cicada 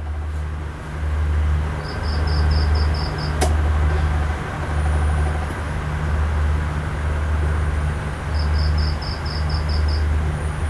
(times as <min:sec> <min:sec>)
0:01.8 0:03.4, 0:08.3 0:10.2